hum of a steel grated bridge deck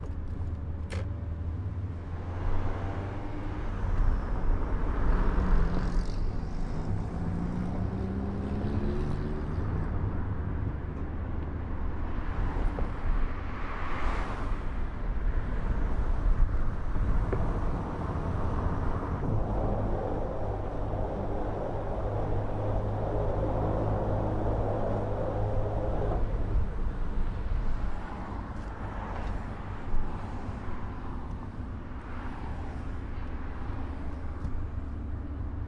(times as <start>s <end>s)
18.4s 30.8s